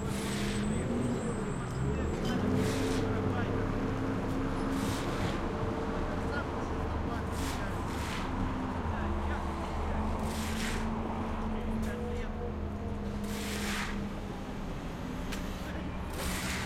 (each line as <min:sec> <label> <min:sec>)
0:00.0 plodders works with shovels 0:00.7
0:02.2 plodders works with shovels 0:03.3
0:04.3 plodders works with shovels 0:05.5
0:07.1 plodders works with shovels 0:08.5
0:09.6 plodders works with shovels 0:11.0
0:13.1 plodders works with shovels 0:14.2
0:16.0 plodders works with shovels 0:16.6